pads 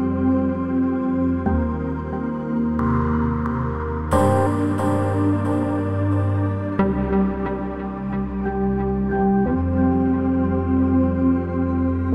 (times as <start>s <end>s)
4.1s 7.2s